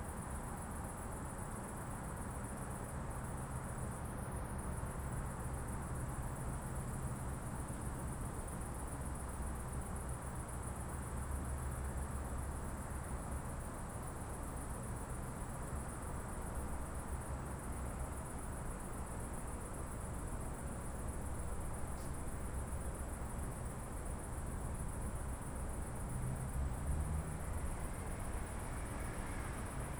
crickets 0:00.0 - 0:29.9
cicadas 0:00.1 - 0:29.9
traffic 0:20.6 - 0:29.9

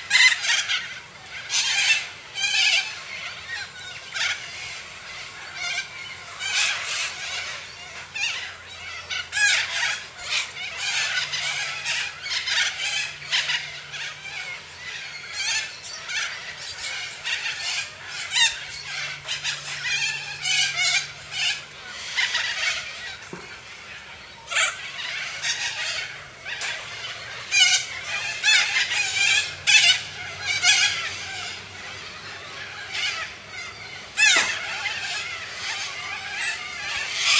Roosting Corellas 0:00.0 - 0:37.3

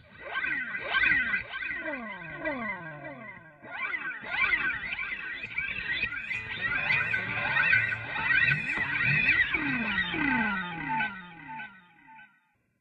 Guitar-Medium delay 0:05.4 - 0:12.2

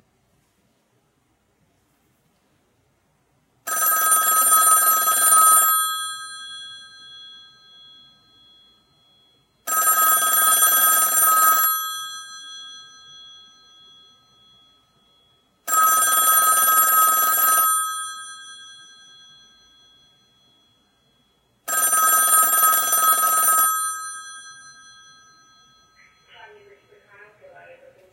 rotary dial telephone ringing 0:03.7 - 0:26.2

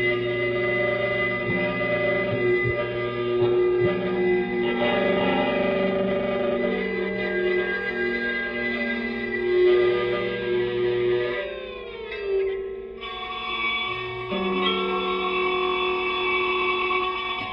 prepared guitar 0:00.0 - 0:17.5

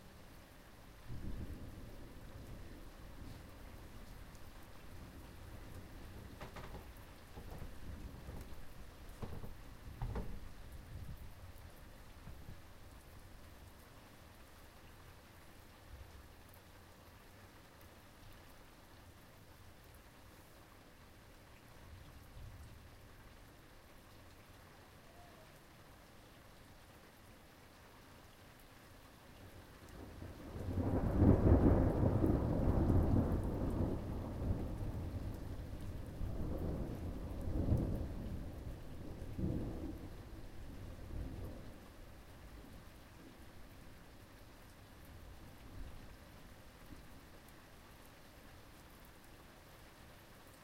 rain 0:00.0 - 0:50.6
thunder 0:01.1 - 0:03.5
thunder 0:04.9 - 0:11.2
thunder 0:30.0 - 0:41.8

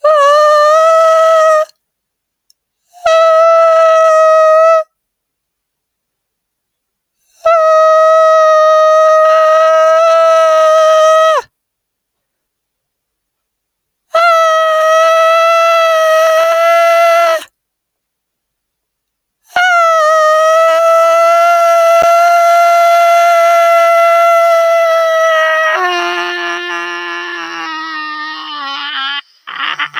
Scream 0:19.5 - 0:29.9

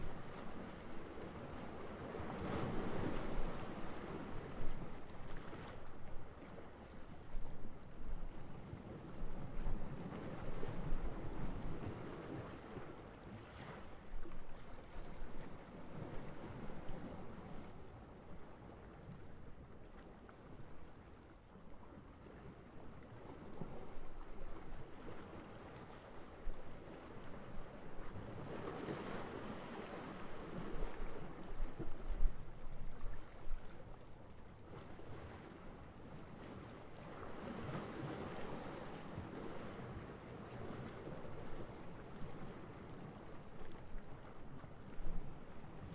waves 0:00.0 - 0:45.9

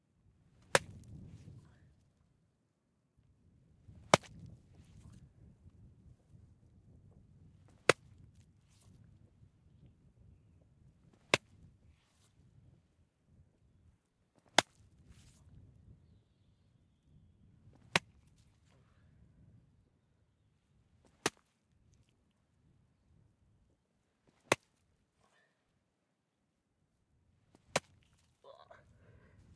Smashing a cantaloupe with a golf club 0:04.1 - 0:04.4
Smashing a cantaloupe with a golf club 0:27.6 - 0:28.3

